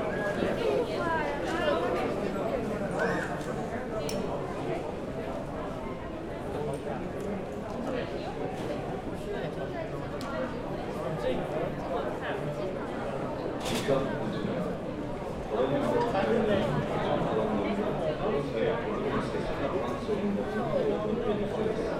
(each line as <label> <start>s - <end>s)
other travellers are discussing in chinese and other languages 0.0s - 21.9s